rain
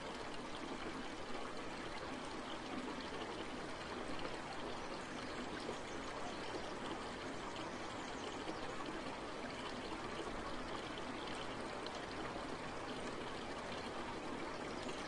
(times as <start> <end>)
0.0 5.0